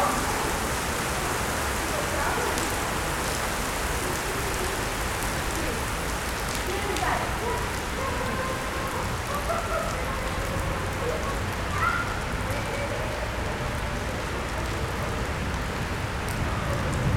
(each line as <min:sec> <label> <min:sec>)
0:00.0 People gathering in front the covered entrance 0:17.1
0:00.0 rain 0:17.1